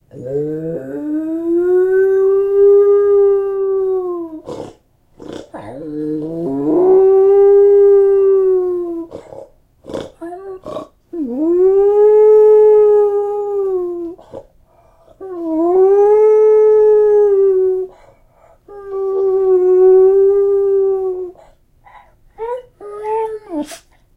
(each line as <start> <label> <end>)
4.4 snorting 6.6
5.7 Beagle Howling 9.1
9.1 snorting 11.0
21.2 little whimper 24.0